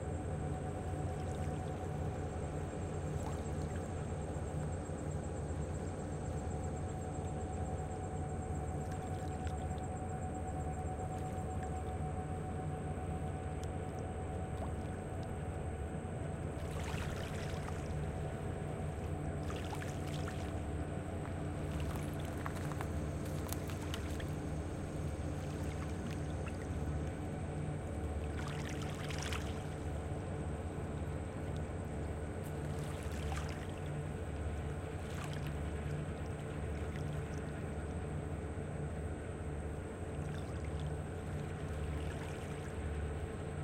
Water 0:00.0 - 0:43.6
low, drone of a huge barge 0:00.0 - 0:43.6
higher-frequency insects 0:00.0 - 0:43.6

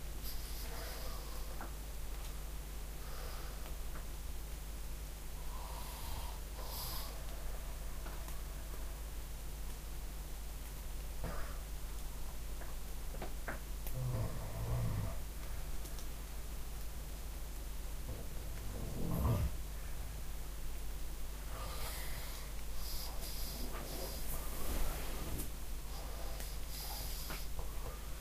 snore 0:05.5 - 0:07.2
snore 0:13.9 - 0:15.2
snore 0:18.7 - 0:19.6
snore 0:21.5 - 0:27.5

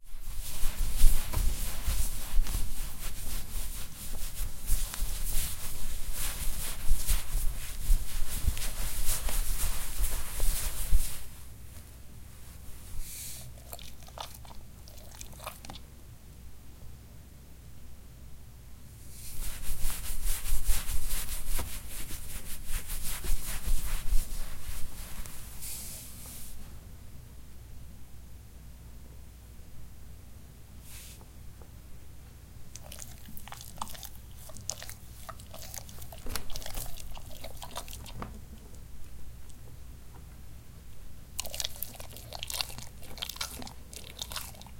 Petting my dog 0:00.2 - 0:11.4
Licking 0:00.4 - 0:11.0
Licking 0:13.4 - 0:15.8
Petting my dog 0:32.8 - 0:38.8
Licking 0:32.8 - 0:39.6
Licking 0:41.4 - 0:44.7
Petting my dog 0:41.4 - 0:44.7

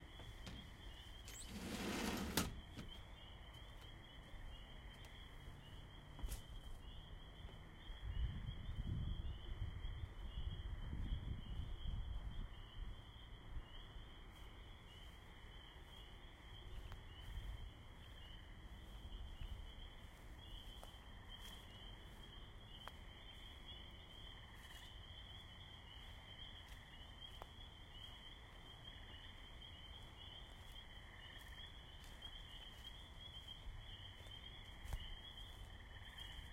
frogs in the swamp behind the house and in the trees 0:00.0 - 0:36.5
wind 0:00.0 - 0:36.5
sliding screen door 0:00.4 - 0:02.9
vehicle traffic noise in the background 0:03.0 - 0:10.8

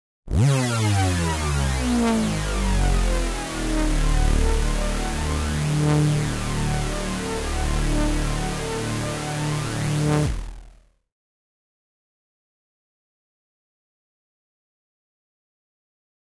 Hoover sound 0:00.3 - 0:10.7

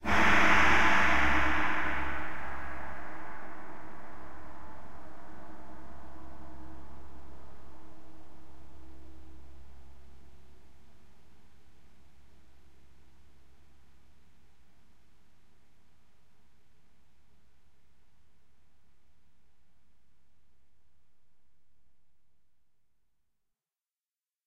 gong 0:00.0 - 0:10.4

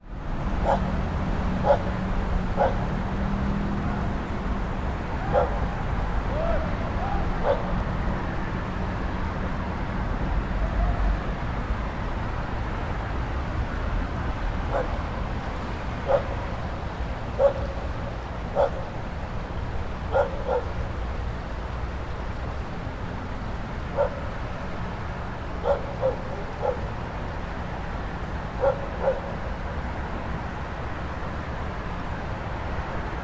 Traffic 0:00.0 - 0:33.2
Dog barking from far away 0:00.6 - 0:00.9
Dog barking from far away 0:01.6 - 0:01.9
Dog barking from far away 0:02.6 - 0:02.9
Dog barking from far away 0:05.2 - 0:05.7
Dog barking from far away 0:06.4 - 0:07.8
Dog barking from far away 0:14.7 - 0:15.0
Dog barking from far away 0:16.0 - 0:16.4
Dog barking from far away 0:17.4 - 0:17.8
Dog barking from far away 0:18.6 - 0:19.0
Dog barking from far away 0:20.1 - 0:20.8
Dog barking from far away 0:24.0 - 0:24.3
Dog barking from far away 0:25.6 - 0:26.9
Dog barking from far away 0:28.6 - 0:29.4

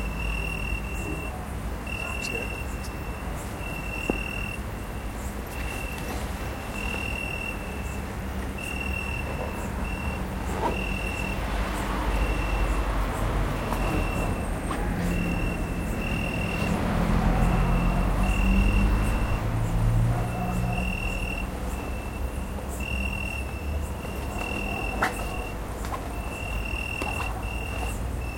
Crickets 0:00.0 - 0:28.3

